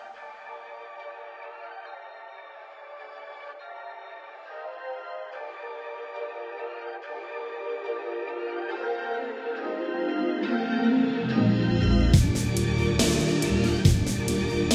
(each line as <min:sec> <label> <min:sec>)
0:12.2 drum loop 0:14.7